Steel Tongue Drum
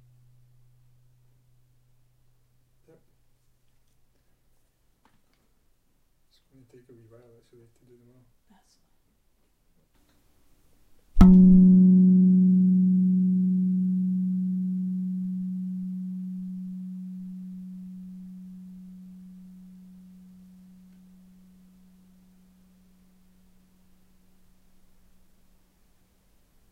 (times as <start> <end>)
11.2 25.1